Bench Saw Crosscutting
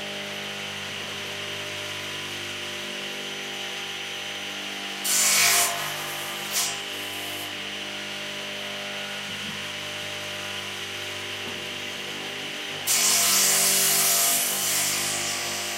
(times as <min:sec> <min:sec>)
0:05.0 0:07.5, 0:12.8 0:15.7